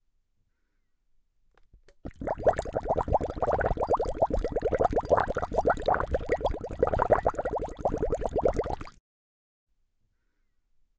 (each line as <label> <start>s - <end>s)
Bubbles in water 2.0s - 9.0s